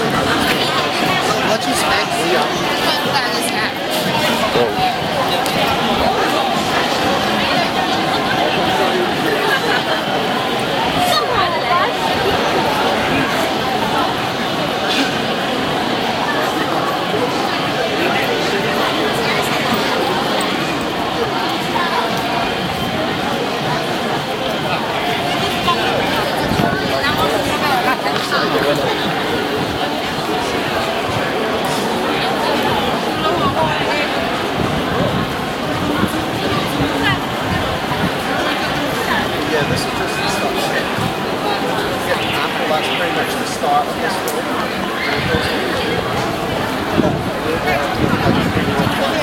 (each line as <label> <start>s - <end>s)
voices 0.0s - 49.2s
wind 0.0s - 49.2s